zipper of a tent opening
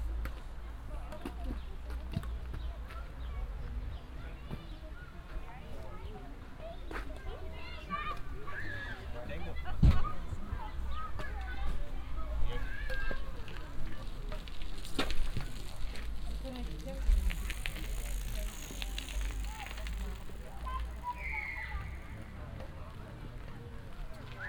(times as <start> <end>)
16.9 21.2